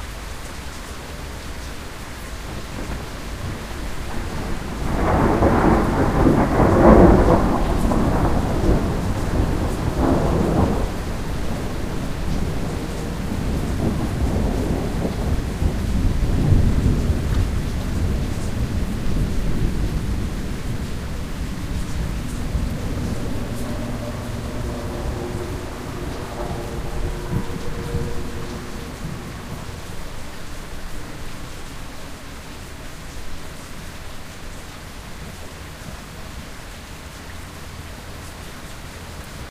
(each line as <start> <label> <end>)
0.0 heavy rainstorm 39.5
2.3 sustained, distant, fairly striking thunderclap 32.4
19.5 plane in the distance 32.0